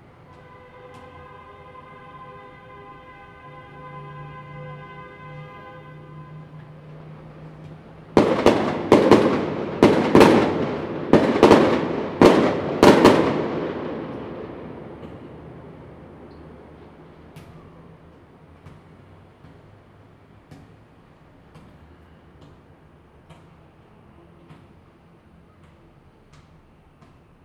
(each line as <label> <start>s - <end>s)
traffic sound 0.0s - 27.4s
firecrackers 0.0s - 19.4s
Fireworks 6.0s - 19.3s